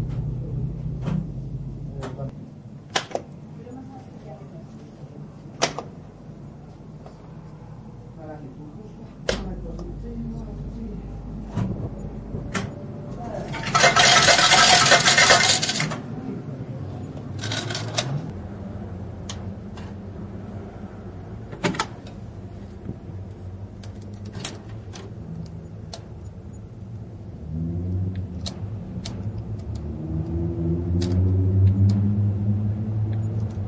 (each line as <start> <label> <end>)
13.5 old slotmachine (fruit machine) 16.1
17.4 old slotmachine (fruit machine) 18.2